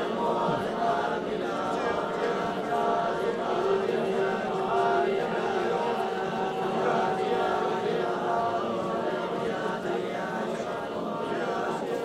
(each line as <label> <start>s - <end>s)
Buddhist Monks calling to prayer 0.0s - 12.0s
voices around, mostly Mandarin speakers 0.0s - 12.0s